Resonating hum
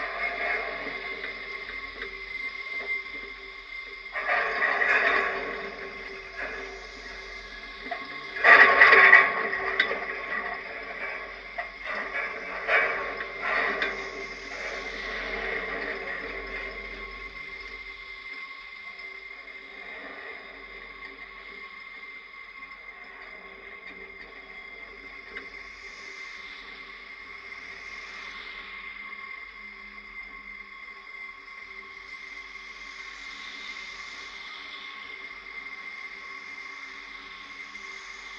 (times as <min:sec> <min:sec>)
0:00.0 0:30.4